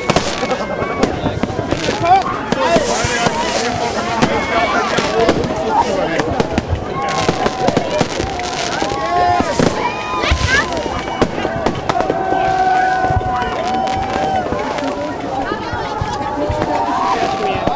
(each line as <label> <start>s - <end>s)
Fireworks flying about, exploding in trees 0.0s - 17.7s
cheering 0.0s - 17.7s
shouting 6.8s - 17.7s